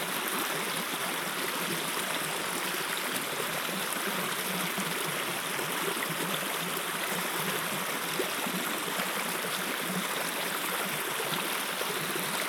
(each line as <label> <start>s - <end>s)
Water gurgling in shallow river 0.0s - 12.4s